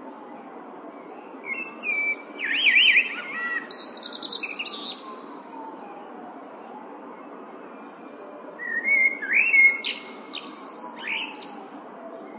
0.0s Traffic rumble 12.3s
1.5s male blackbird singing 5.0s
8.6s male blackbird singing 11.6s

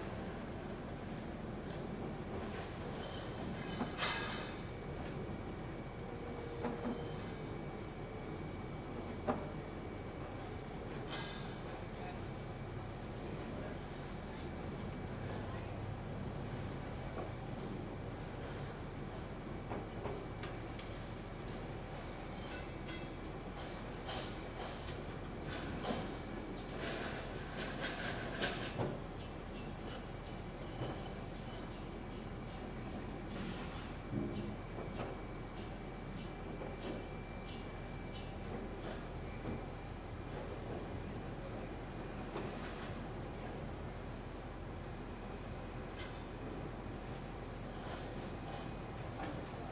3.6s clank of the tent poles 4.6s

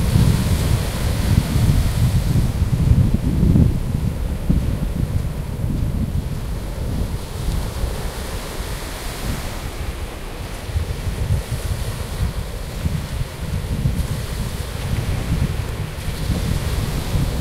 0.0s waves 17.4s
0.0s wind 17.4s

